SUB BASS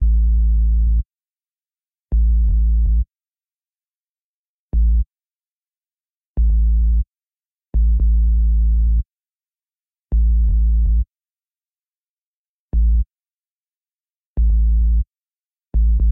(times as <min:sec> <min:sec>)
0:00.0 0:01.0, 0:02.1 0:03.0, 0:04.8 0:05.0, 0:06.4 0:07.0, 0:07.8 0:09.0, 0:10.1 0:11.0, 0:12.8 0:13.0, 0:14.4 0:15.0, 0:15.8 0:16.1